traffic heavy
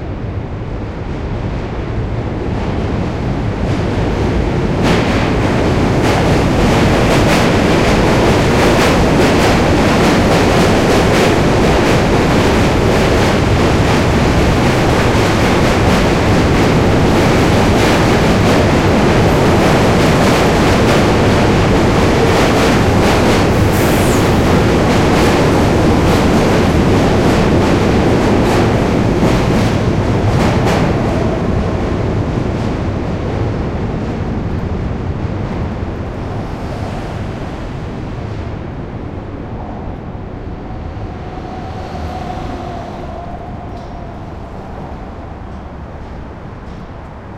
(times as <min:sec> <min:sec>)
0:14.3 0:32.7